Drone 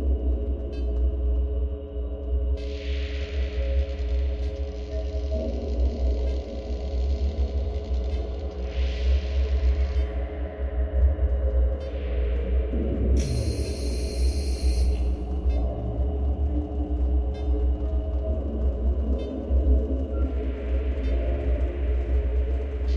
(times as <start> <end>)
10.9 22.9